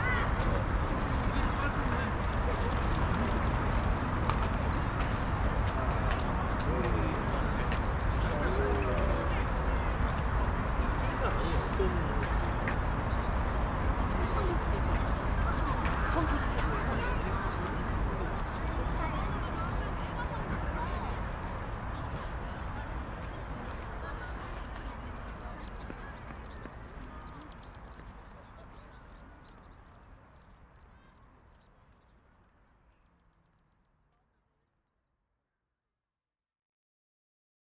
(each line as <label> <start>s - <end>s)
Birds Chirping 4.4s - 22.4s
Birds Chirping 24.0s - 30.9s